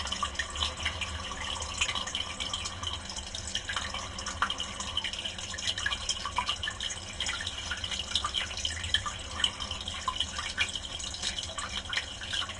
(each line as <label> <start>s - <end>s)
pipe 0.0s - 12.5s
water 0.0s - 12.5s